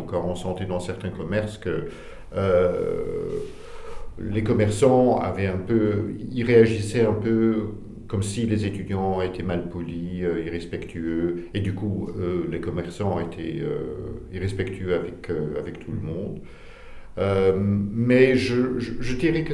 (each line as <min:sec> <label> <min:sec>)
0:00.0 testimony 0:19.5